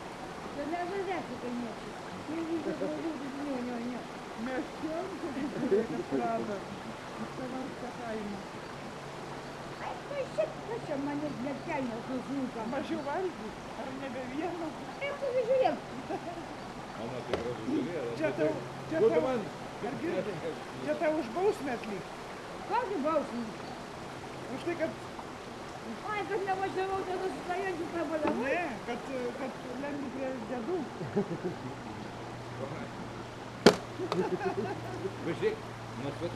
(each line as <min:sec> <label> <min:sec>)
0:00.0 holy St. Jonas spring 0:36.3
0:00.0 local peoples taking it's water 0:36.3
0:00.6 talks at the holy source 0:09.1
0:09.7 talks at the holy source 0:23.6